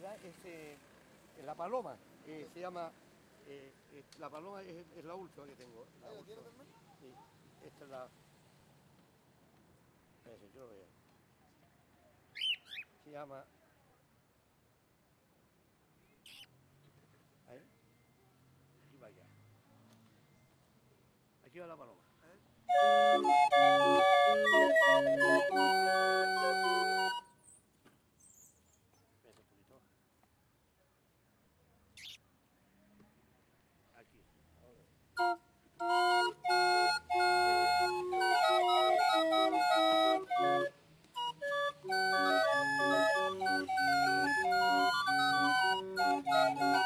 22.7s Organillo played in the streets 27.3s
35.1s Organillo played in the streets 46.8s

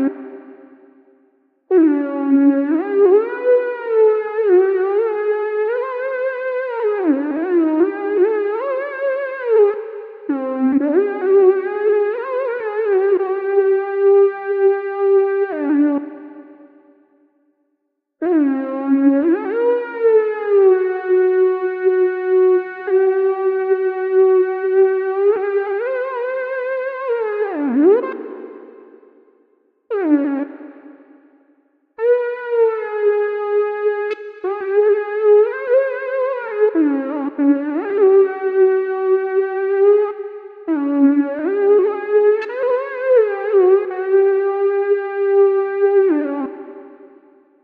18.2s synthesizer 47.6s

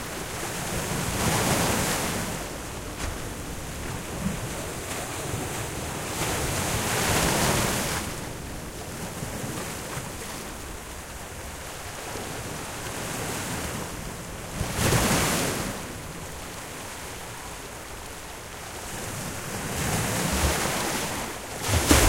21.2s sea waves splashing into the rocks 22.0s

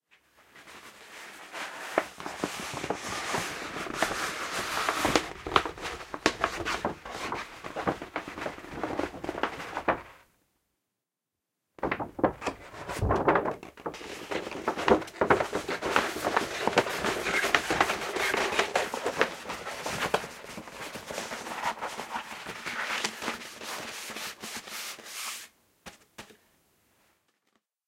0.1s unrolling and re-rolling a cartridge-paper map 10.2s
11.8s unrolling and re-rolling a cartridge-paper map 26.4s

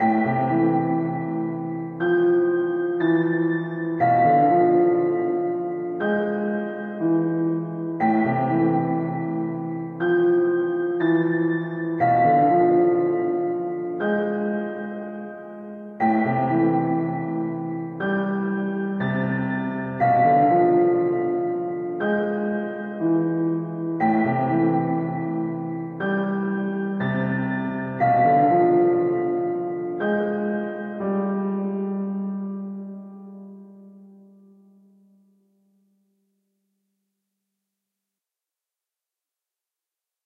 0.0s piano 36.5s

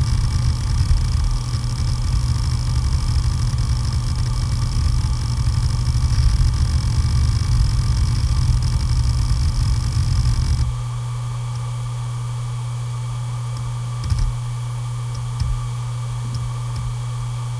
0.0s starting of the spinning noise 10.7s
0.0s heads rumbling when data is read and written 17.5s

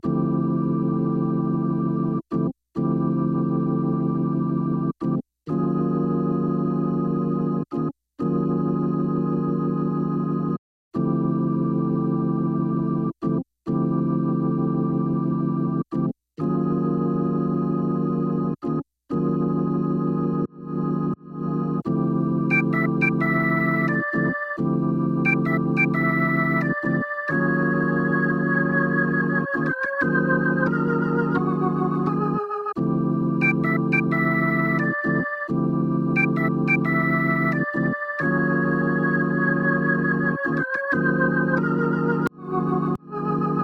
0.0s Organ 43.6s

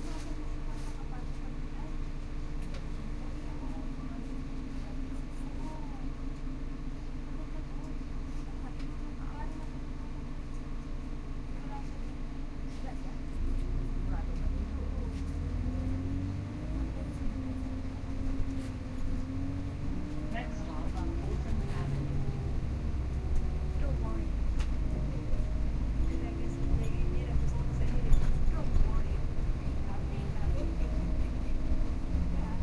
0.0s bus 32.6s
0.0s subway ride 32.6s

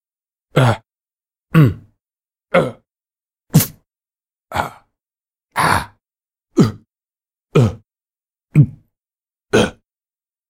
0.5s grunt 0.9s
1.5s grunt 2.9s
4.5s grunt 6.9s
7.5s grunt 7.9s
8.5s grunt 8.9s
9.5s grunt 9.9s

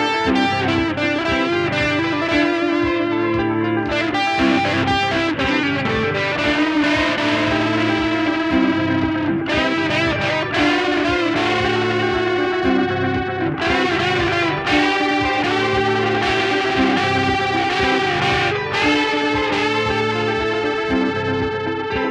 0.0s electric guitar 22.1s

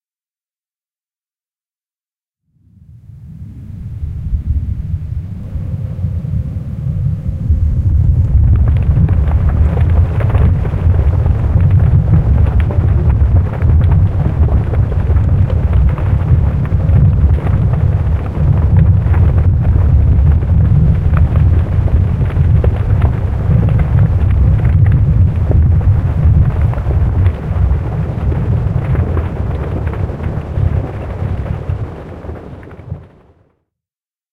5.6s earthquake-sound 33.5s

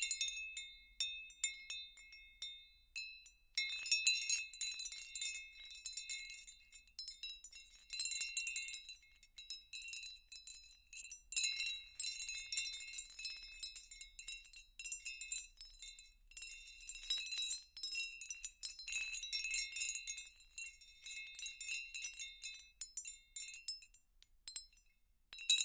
0.0s Glassy Stone Windchime sounds 25.6s

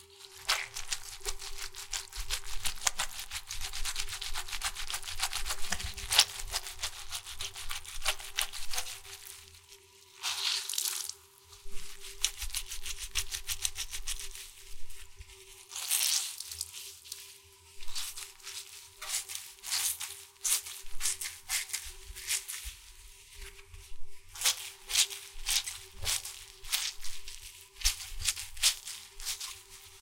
0.0s Rapidly rubbing a surface with a very wet sponge 10.8s
0.0s Wringing it out and squeezing it 30.0s
11.6s Rapidly rubbing a surface with a very wet sponge 30.0s

